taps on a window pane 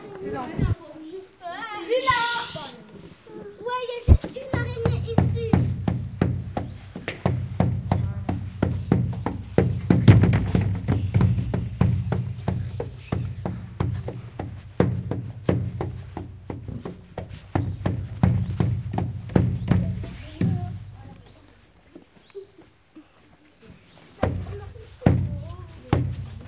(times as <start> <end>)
4.1 20.8